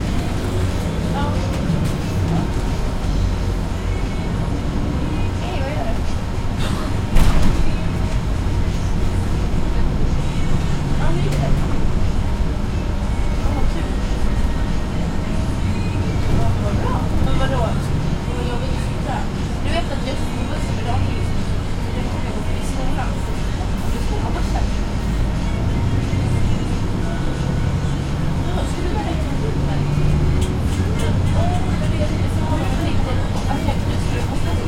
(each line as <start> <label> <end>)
0.0 bus driving in town 34.6
0.0 people are talking 34.6